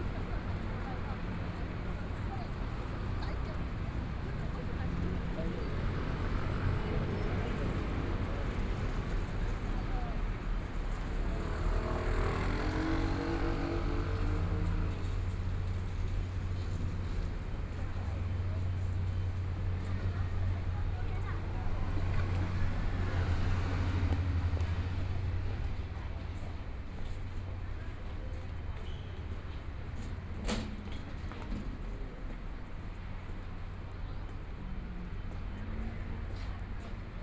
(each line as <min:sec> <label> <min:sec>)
0:00.0 Traffic Sound 0:37.2
0:00.0 Walking across the different streets 0:37.2